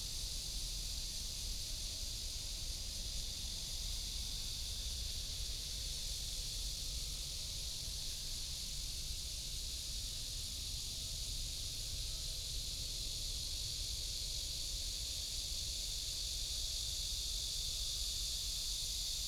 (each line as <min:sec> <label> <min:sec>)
0:00.0 Cicadas 0:19.2